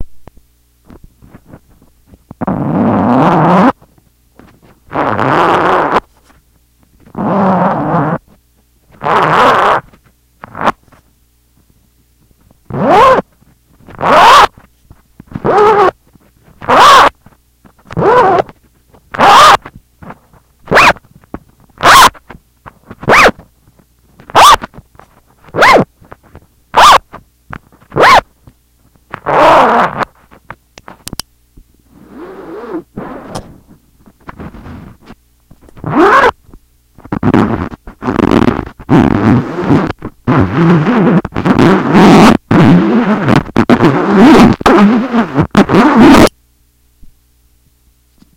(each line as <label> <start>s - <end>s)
touching a zipper 2.4s - 3.8s
touching a zipper 4.4s - 6.3s
touching a zipper 7.1s - 8.2s
touching a zipper 8.9s - 11.0s
touching a zipper 12.7s - 17.2s
touching a zipper 17.8s - 21.0s
touching a zipper 21.8s - 23.4s
touching a zipper 24.2s - 28.2s
touching a zipper 29.1s - 30.2s
touching a zipper 31.9s - 36.4s
touching a zipper 37.0s - 46.3s